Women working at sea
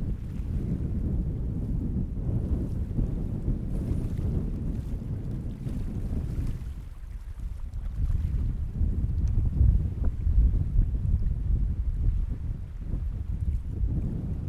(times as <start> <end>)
0.2 10.3